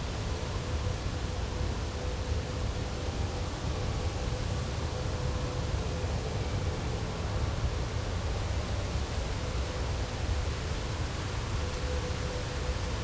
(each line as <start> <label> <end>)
0.0 wind 13.0